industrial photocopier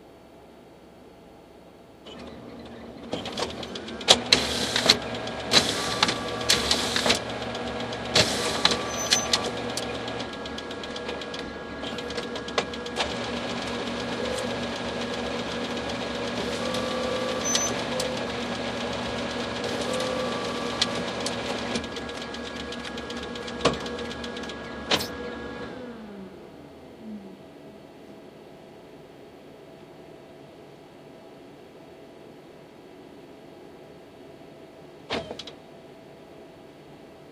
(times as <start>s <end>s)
2.1s 25.8s, 35.1s 35.6s